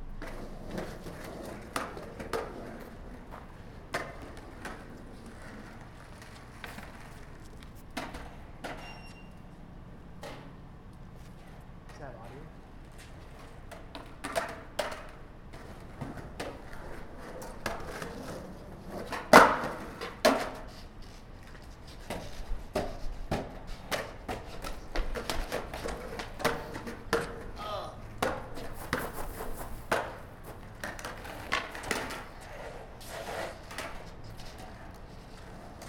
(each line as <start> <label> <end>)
0.2 skating 9.3
12.8 skating 35.8